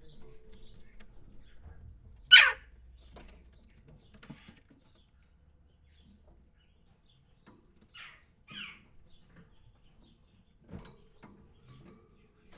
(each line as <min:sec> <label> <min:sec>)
0:02.3 Giving food to the three magpies 0:02.6